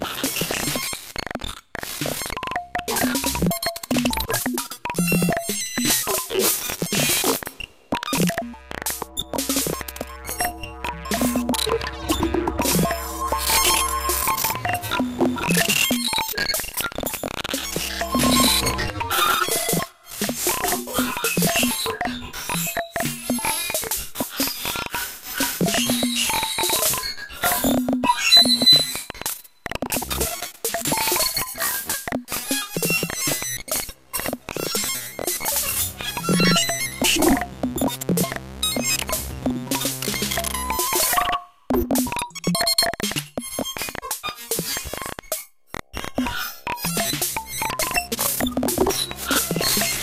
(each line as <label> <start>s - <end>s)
synthesizer 2.0s - 23.6s
synthesizer 29.9s - 43.4s
synthesizer 45.8s - 50.0s